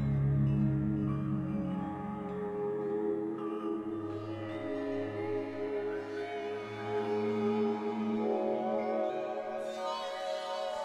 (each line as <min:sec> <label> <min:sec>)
0:00.0 synth 0:10.8